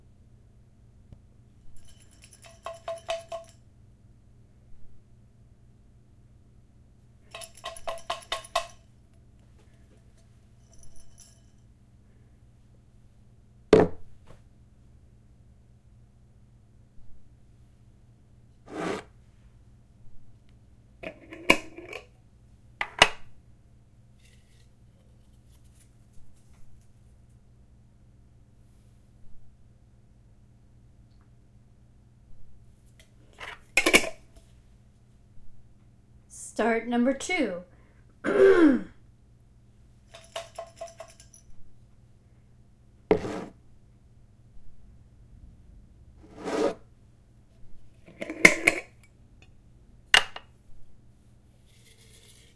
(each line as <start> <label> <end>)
48.1 jar open close 49.0